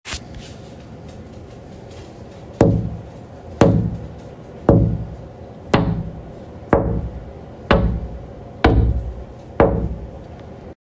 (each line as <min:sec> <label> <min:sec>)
0:05.8 Finger tapping on a double pane window 0:10.1